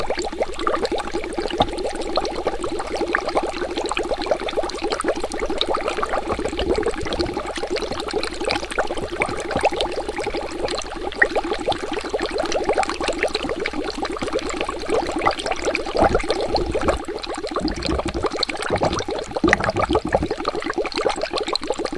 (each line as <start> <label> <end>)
0.0 Bubbles being blown through a straw into a glass of water 21.9